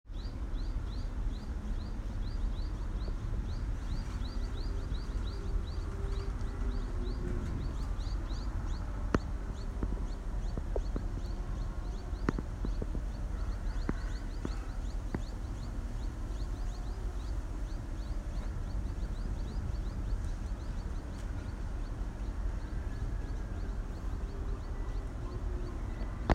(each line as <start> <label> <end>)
0.1 Bird sound 26.3